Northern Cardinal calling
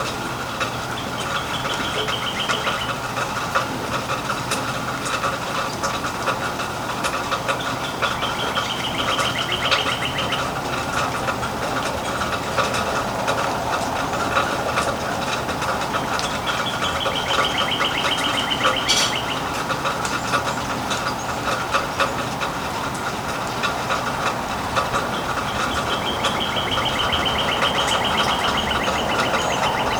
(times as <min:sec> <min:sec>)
0:00.6 0:03.3, 0:07.5 0:22.3, 0:24.9 0:29.9